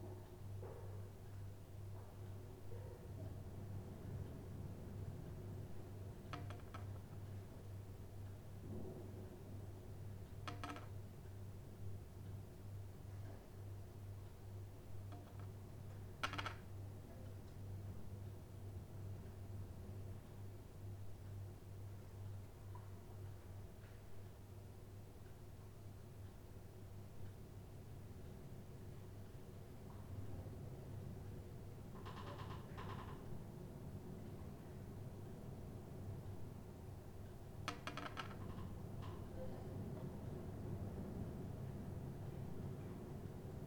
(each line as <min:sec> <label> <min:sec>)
0:16.2 creaky door 0:16.6
0:32.0 creaky door 0:33.3
0:37.7 creaky door 0:39.3